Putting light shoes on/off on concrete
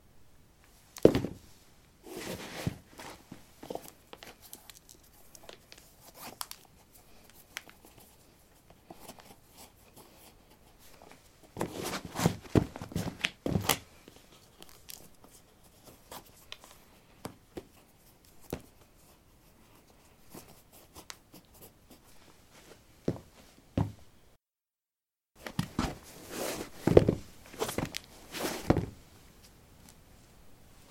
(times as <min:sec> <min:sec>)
0:25.4 0:29.0